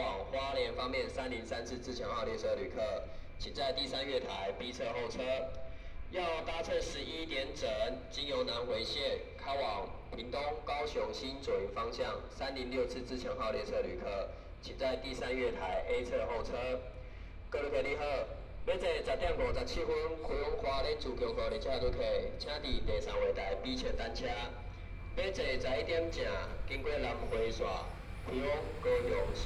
Trains arrive 0:00.0 - 0:29.4
Messages broadcast station 0:23.2 - 0:29.4

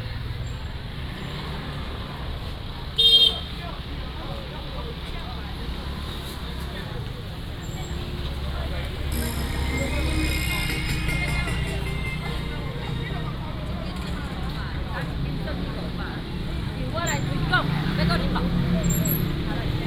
motorcycle 0:00.0 - 0:10.1
Traffic sound 0:00.0 - 0:19.8
Walking in the market 0:00.0 - 0:19.8
Vendors 0:07.3 - 0:19.8
motorcycle 0:13.7 - 0:19.8

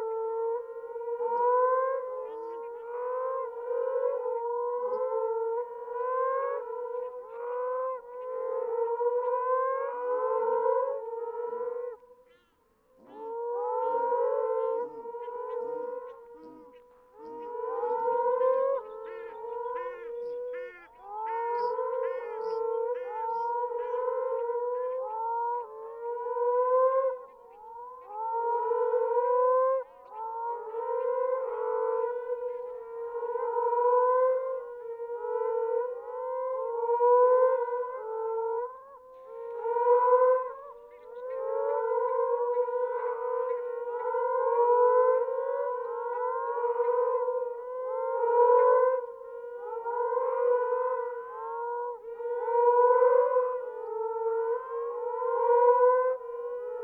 Moaning Frogs calling from burrows in the ground 0:00.0 - 0:56.8
Shelducks calling from nearby lake 0:14.7 - 0:24.7

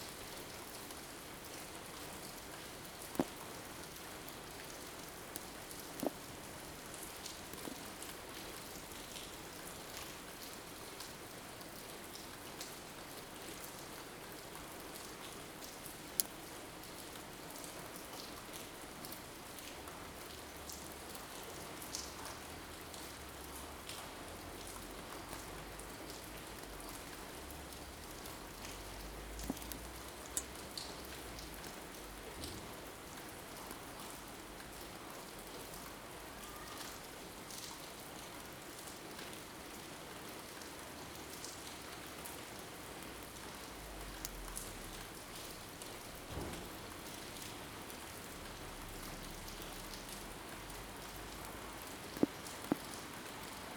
Rain 0:00.0 - 0:53.7

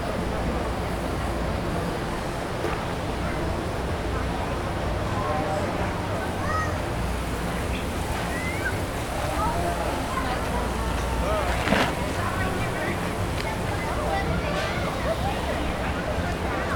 washing cows 0:07.1 - 0:15.6

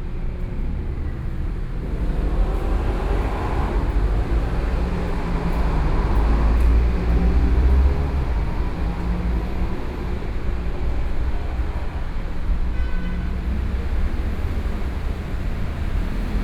Traffic Sound 0:00.0 - 0:16.4

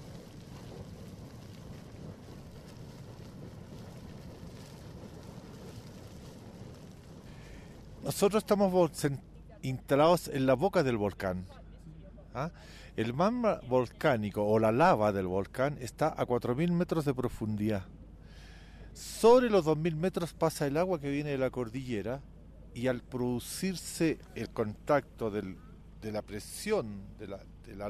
Geysers 0:00.0 - 0:11.2

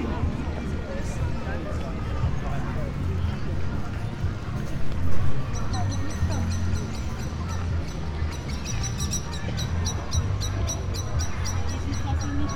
people chatting 0:00.0 - 0:12.5

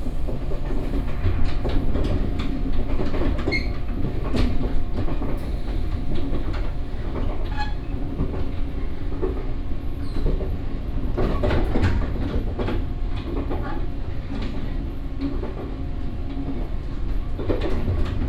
the train 0:00.0 - 0:18.2

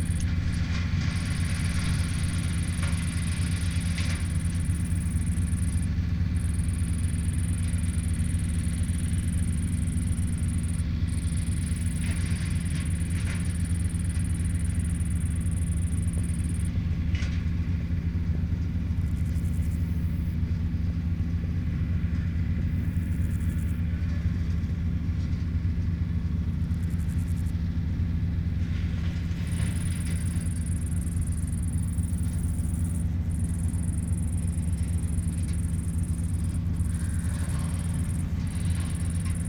grasshopper singing in the grass 0:00.0 - 0:16.8
tractor chopping fallen brushes 0:00.0 - 0:39.4
grasshopper singing in the grass 0:19.0 - 0:20.4
grasshopper singing in the grass 0:22.7 - 0:23.8
grasshopper singing in the grass 0:29.4 - 0:39.4

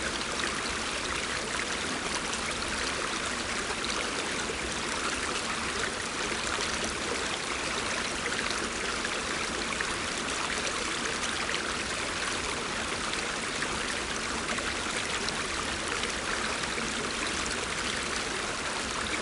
Stream 0:00.0 - 0:19.2

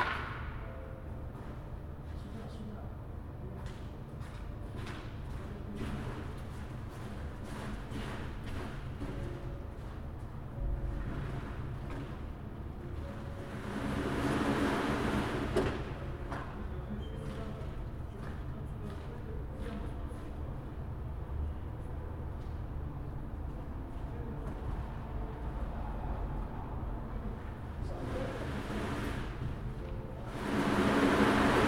Workers cleaning carpets 0:30.3 - 0:31.6

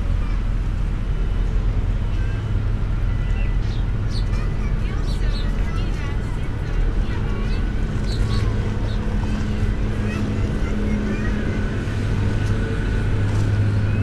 machine at work 0:00.0 - 0:14.0
traffic 0:00.0 - 0:14.0
kindergarten 0:02.0 - 0:14.0
birds 0:03.1 - 0:06.3
birds 0:07.0 - 0:11.3

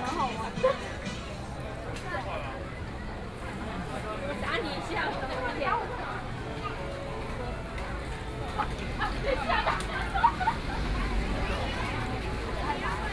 Various shops voices 0:00.0 - 0:13.1
Traffic Sound 0:07.2 - 0:13.1

